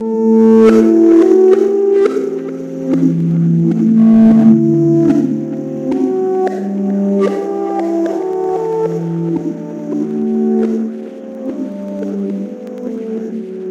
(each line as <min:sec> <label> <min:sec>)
0:02.7 bass 0:07.2